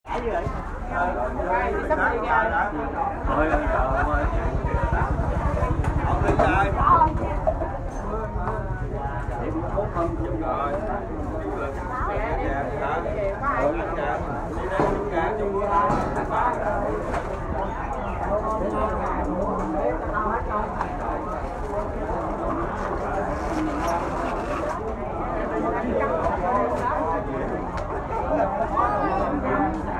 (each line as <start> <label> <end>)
0.0 Many people talk 29.9